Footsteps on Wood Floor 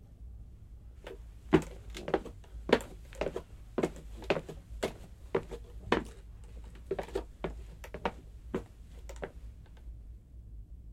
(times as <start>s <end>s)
1.1s 9.4s